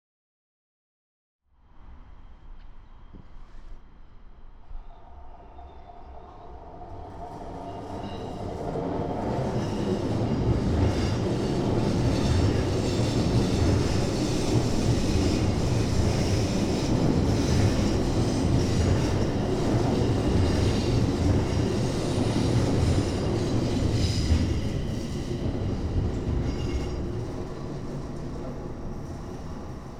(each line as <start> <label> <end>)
1.6 Subway Train Passing 29.9
4.5 tramway passing in between further away 29.9